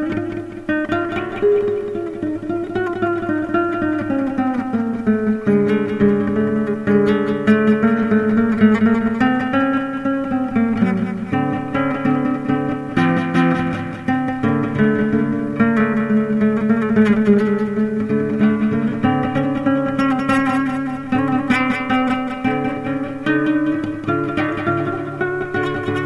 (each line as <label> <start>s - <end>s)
guitar 0.0s - 26.0s